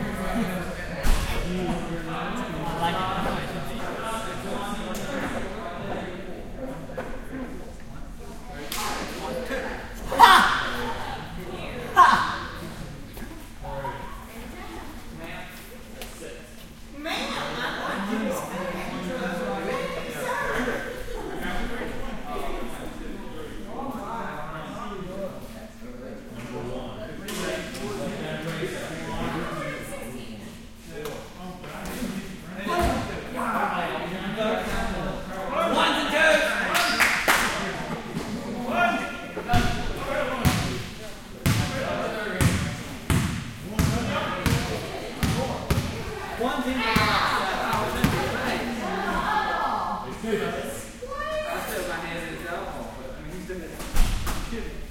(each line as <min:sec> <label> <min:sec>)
0:08.6 Volleyball Game 0:13.6
0:32.7 Volleyball Game 0:33.4
0:36.3 Volleyball Game 0:50.2